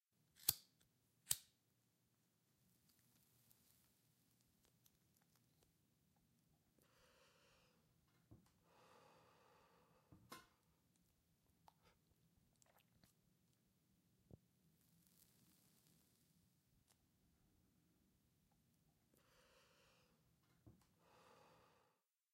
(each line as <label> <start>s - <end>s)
lighting a cigarette 0.4s - 1.6s